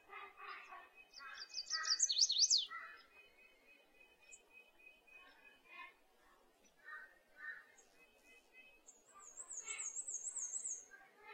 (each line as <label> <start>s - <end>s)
birdsong 0.0s - 11.3s
crows calling 1.2s - 3.1s
crows calling 6.8s - 7.7s